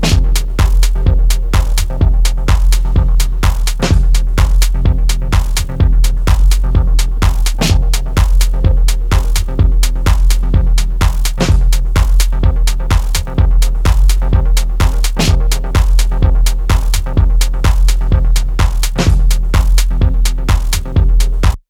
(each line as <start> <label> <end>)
0.0 beat 21.6